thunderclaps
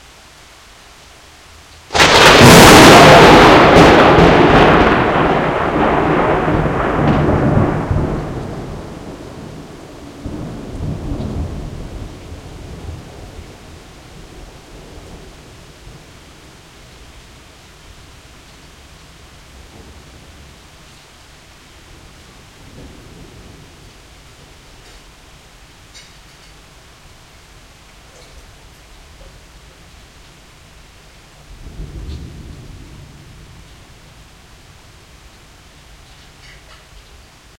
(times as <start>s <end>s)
1.9s 17.5s, 18.5s 20.6s, 21.9s 25.2s, 31.4s 34.4s